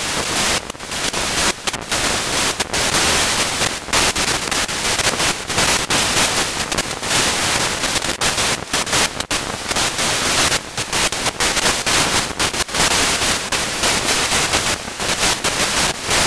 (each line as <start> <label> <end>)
0.0 Static sputtering noises 16.2